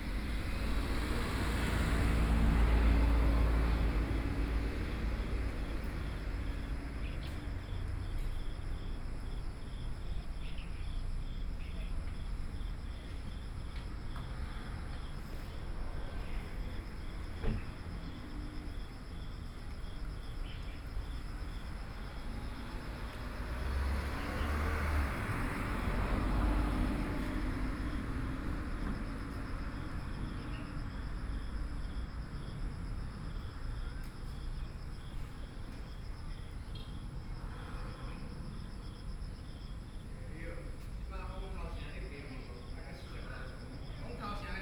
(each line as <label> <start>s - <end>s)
Traffic Sound 0.0s - 44.6s
Birds 20.3s - 21.2s